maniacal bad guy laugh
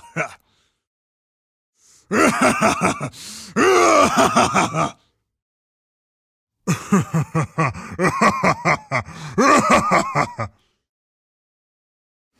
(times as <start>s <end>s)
2.1s 3.1s, 3.8s 5.0s, 6.7s 10.6s